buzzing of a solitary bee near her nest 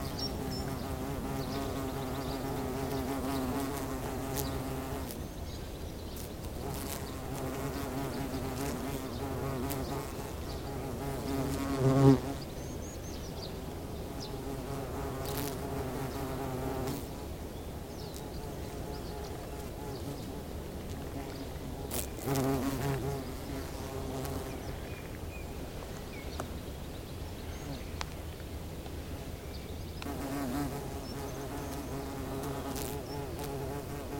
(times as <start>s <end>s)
0.0s 5.2s, 6.2s 12.4s, 14.2s 17.1s, 21.7s 24.6s, 30.1s 34.1s